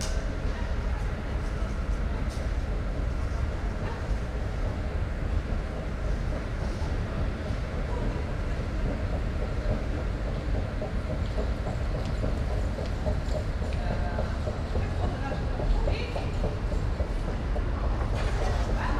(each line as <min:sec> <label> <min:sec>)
0:00.0 Trains driving in 0:18.9
0:00.0 people exit and enter 0:18.9